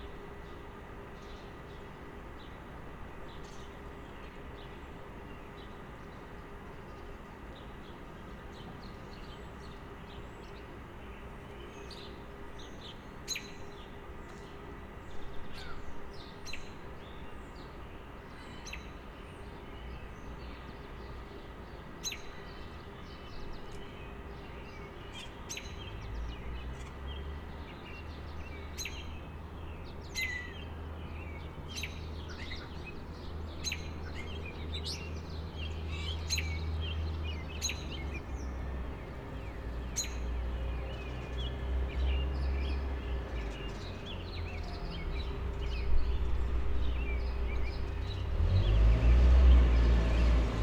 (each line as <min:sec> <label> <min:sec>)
0:24.2 cars and trucks coming and going 0:50.6